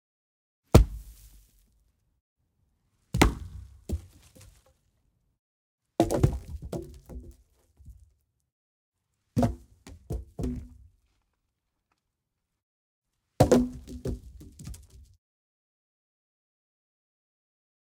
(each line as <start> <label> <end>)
0.7 Tree Trunk Wood Impact Ground 1.7
3.1 Tree Trunk Wood Impact Ground 4.8
6.0 Tree Trunk Wood Impact Ground 8.0
9.4 Tree Trunk Wood Impact Ground 10.9
13.4 Tree Trunk Wood Impact Ground 15.1